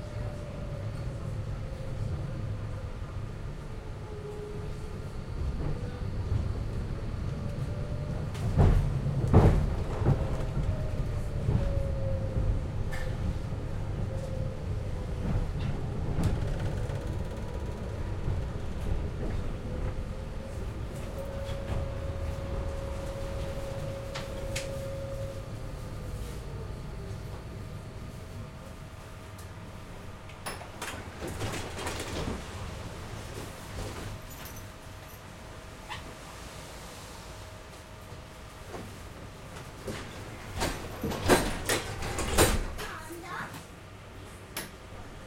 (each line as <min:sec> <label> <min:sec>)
0:00.0 tram 0:45.2